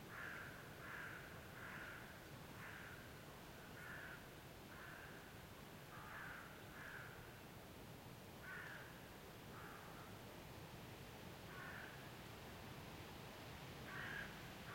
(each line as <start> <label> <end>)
0.0 wind in trees 14.7
0.1 crows 3.0
3.8 crows 5.2
5.9 crows 7.2
8.4 crows 8.9
9.5 crows 10.1
11.5 crows 12.0
13.9 crows 14.4